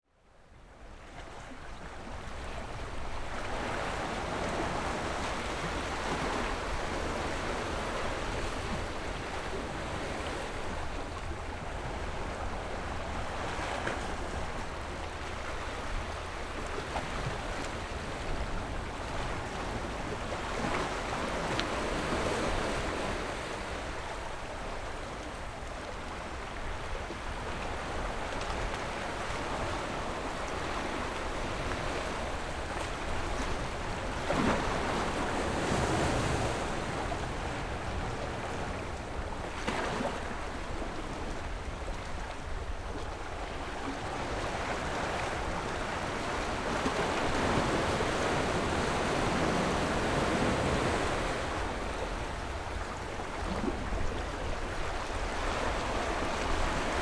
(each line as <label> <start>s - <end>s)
waves 0.1s - 57.0s